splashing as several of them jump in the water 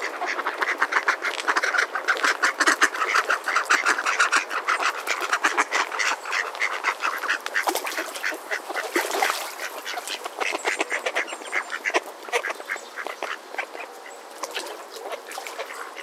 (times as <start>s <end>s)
7.4s 10.2s, 14.4s 16.0s